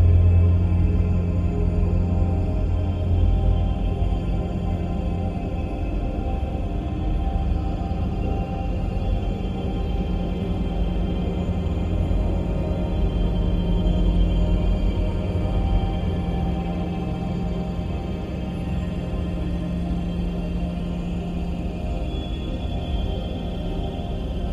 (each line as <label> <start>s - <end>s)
slowly evolving dreamy ambient drone pad 0.0s - 24.5s